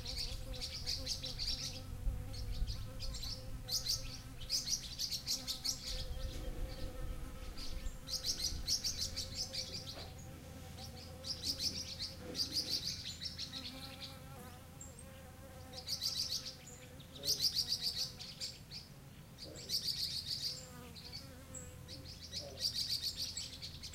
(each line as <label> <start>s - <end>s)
chorus of bird calls 0.0s - 14.2s